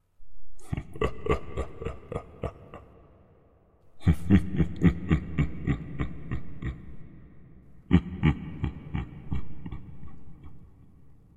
Male Dark/Evil Chuckle 0.6 - 11.1

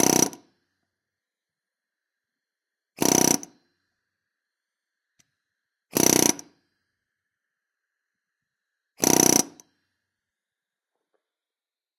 pneumatic hammer started four times 0.0 - 0.5
pneumatic hammer started four times 3.0 - 3.6
pneumatic hammer started four times 5.9 - 6.6
pneumatic hammer started four times 9.0 - 9.6

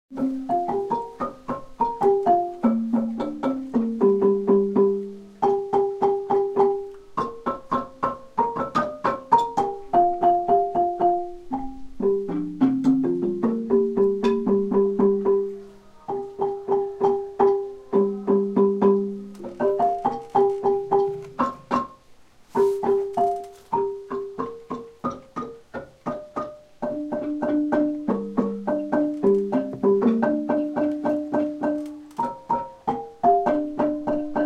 xylophone 0.2 - 22.0

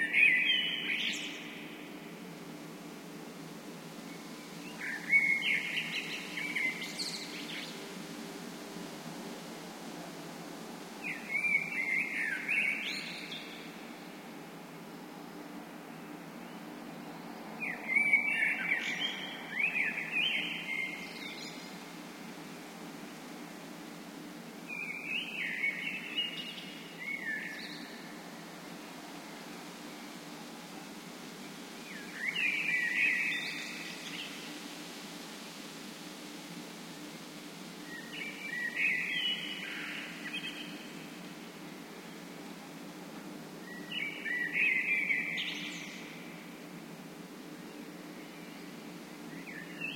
birdsong 0.0 - 2.3
birdsong 4.0 - 8.0
birdsong 10.9 - 14.2
birdsong 29.6 - 34.9
birdsong 37.7 - 42.6
birdsong 43.2 - 46.9

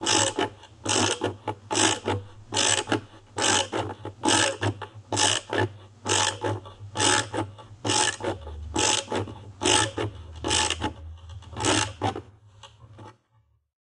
screw driver 0.0 - 12.2

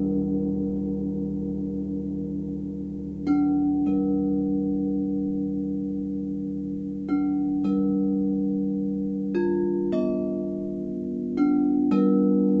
crystal singing bowls 0.0 - 12.6

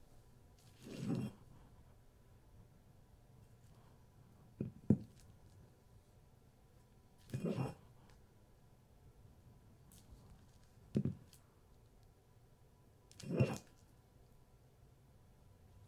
Brick pick up and put down - laminate floor 0.7 - 1.4
Brick pick up and put down - laminate floor 10.9 - 11.4

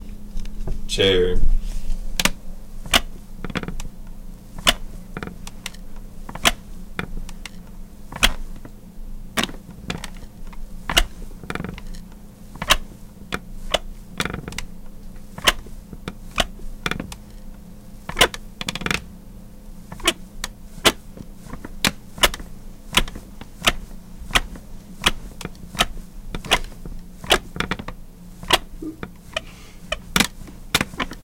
rocking chair 2.9 - 3.9
rocking chair 4.6 - 8.8
rocking chair 9.4 - 17.5
rocking chair 18.1 - 19.1
rocking chair 19.9 - 31.2

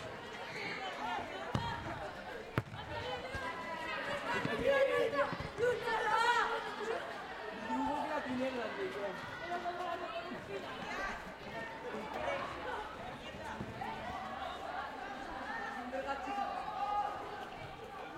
children playing 0.0 - 18.1

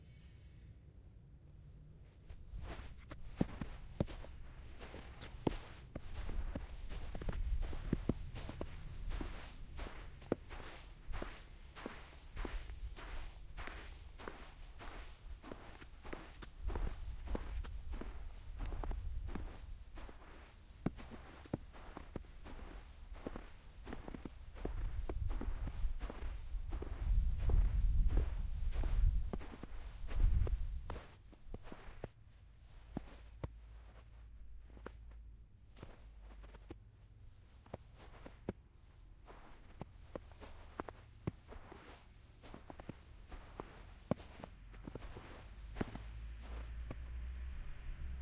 walking in the snow with leather shoes 1.8 - 48.2

